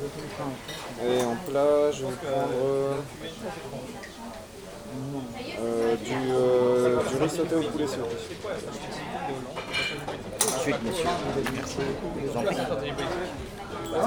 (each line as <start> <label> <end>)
0.0 hubbub of the clients 14.0
0.0 two people talking 14.0